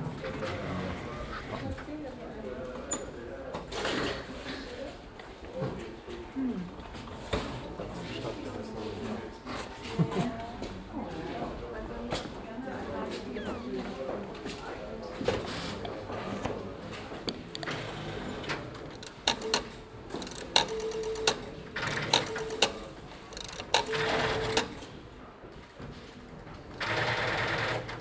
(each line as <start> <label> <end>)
19.0 old telephones ringing and dialing 24.7